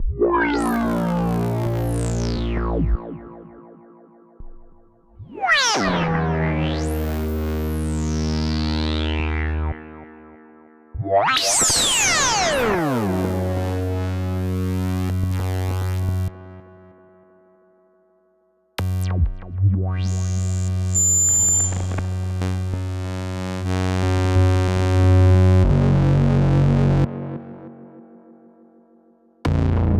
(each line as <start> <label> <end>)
0.0 Analog Bass 16.9
18.8 Analog Bass 28.2
29.5 Analog Bass 29.9